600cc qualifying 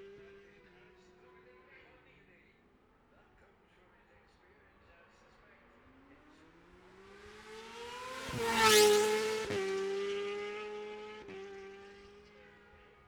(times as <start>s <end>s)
5.8s 13.0s